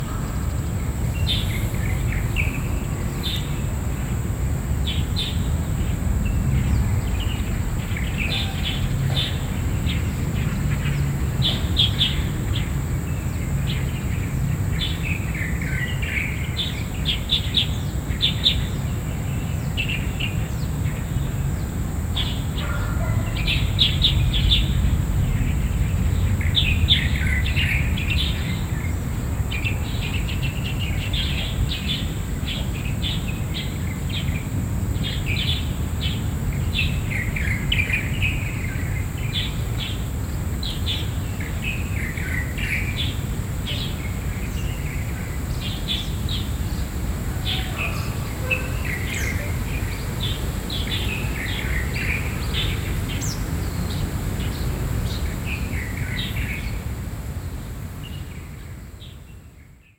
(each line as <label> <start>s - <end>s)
birds 0.0s - 59.9s